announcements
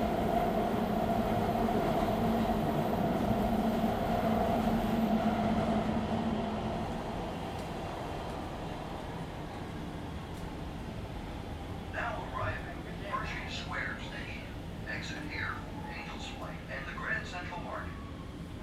0:11.9 0:18.2

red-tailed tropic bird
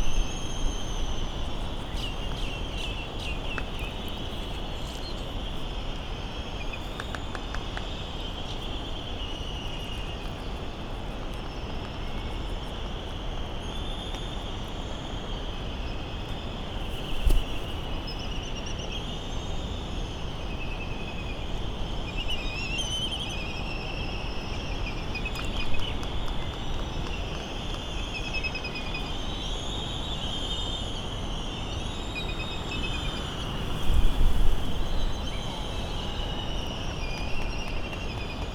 0:00.1 0:05.3

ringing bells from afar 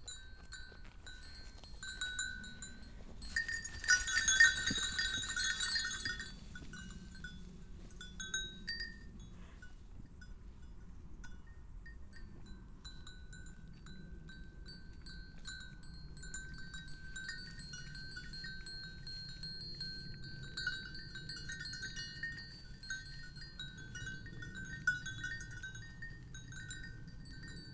0:00.4 0:07.4

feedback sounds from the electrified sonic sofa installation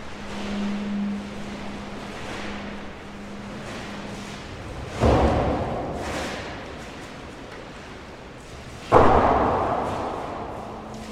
0:00.0 0:05.0

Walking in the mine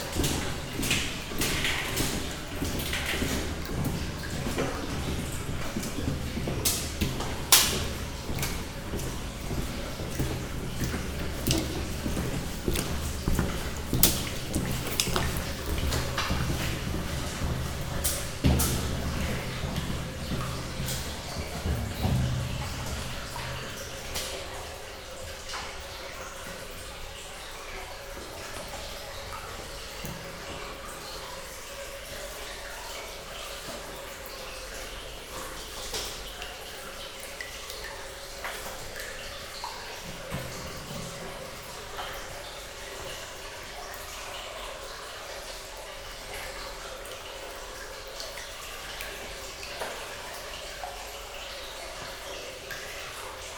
0:00.0 0:23.6

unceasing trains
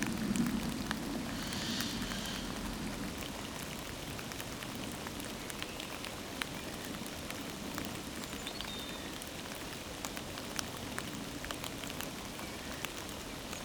0:00.0 0:03.5

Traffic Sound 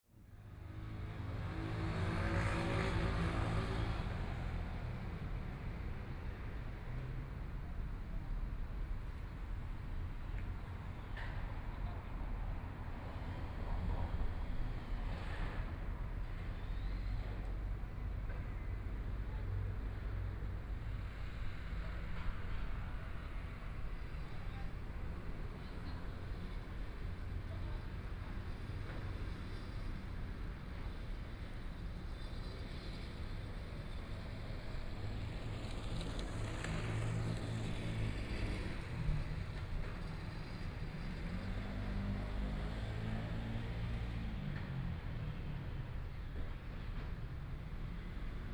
0:31.7 0:48.5

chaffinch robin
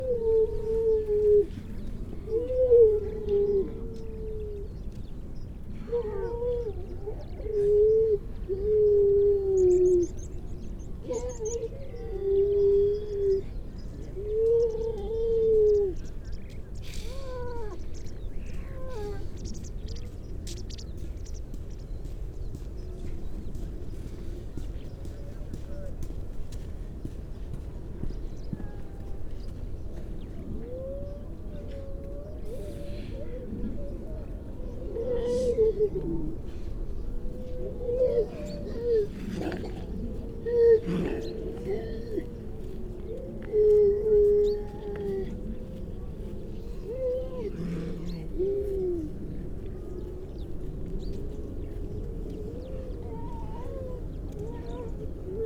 0:00.4 0:30.5, 0:49.4 0:55.4

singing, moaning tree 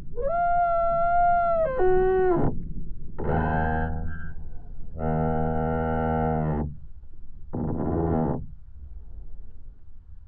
0:00.0 0:02.6

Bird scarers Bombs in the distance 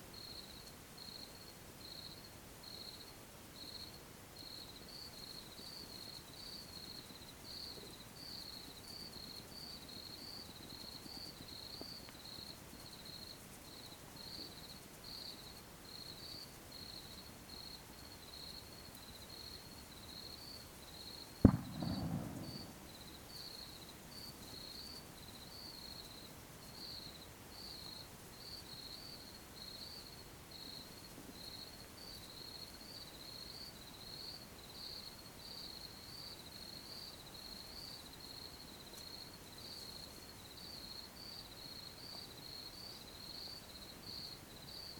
0:21.4 0:23.2

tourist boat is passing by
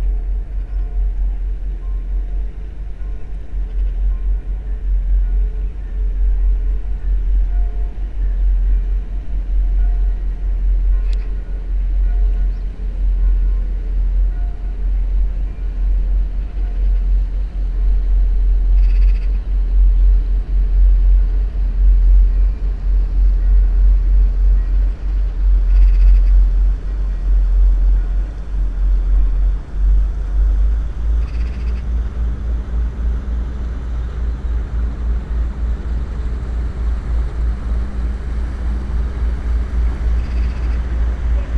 0:19.4 0:41.5

